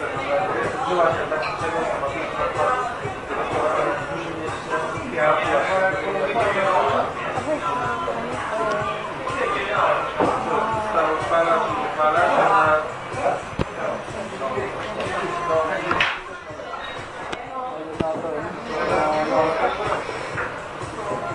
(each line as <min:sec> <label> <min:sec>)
0:00.0 conversations 0:21.3